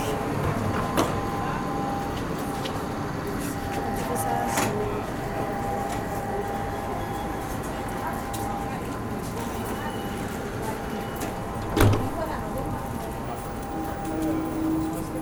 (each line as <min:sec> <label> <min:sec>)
0:00.0 people is going inside 0:15.2
0:00.0 train is arriving 0:15.2
0:00.0 train leaves 0:15.2